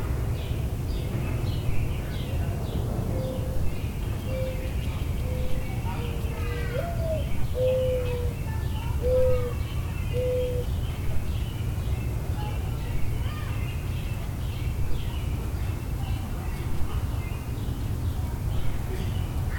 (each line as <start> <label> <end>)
0.0 sparrows 19.5
1.6 mourning doves 11.0
2.0 people talking 11.4
5.3 robins 10.7
12.2 people talking 19.5